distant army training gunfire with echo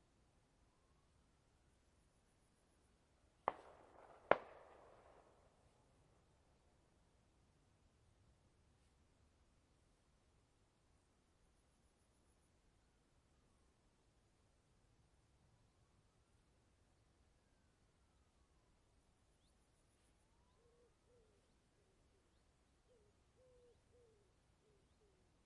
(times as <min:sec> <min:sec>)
0:03.4 0:05.7